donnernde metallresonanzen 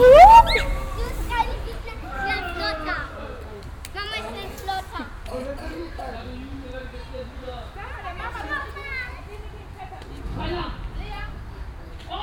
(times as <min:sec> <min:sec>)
0:00.0 0:01.3